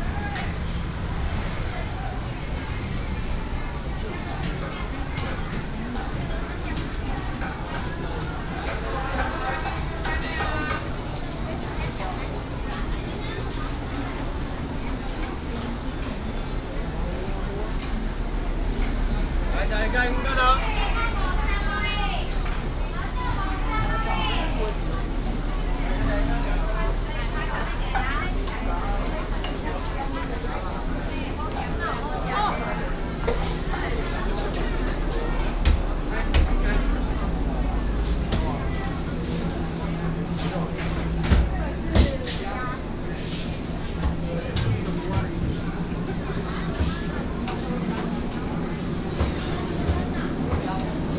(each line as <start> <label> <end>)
0.0 Traffic sound 51.1
0.0 vendors peddling 51.1
0.0 walking in the dusk market 51.1